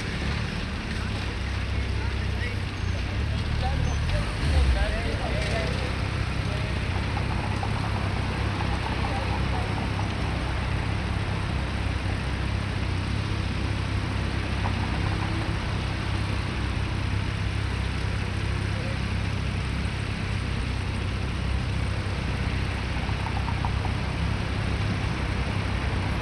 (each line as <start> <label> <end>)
0.0 people 20.4
0.0 cars 26.2
0.0 motorcycles 26.2
0.0 trams 26.2